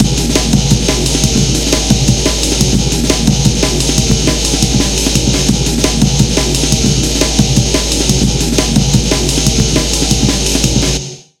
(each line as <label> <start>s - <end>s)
breakbeat 0.0s - 11.2s